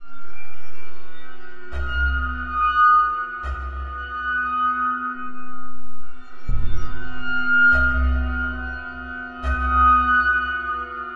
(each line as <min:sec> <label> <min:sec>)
0:05.2 dark tones 0:08.6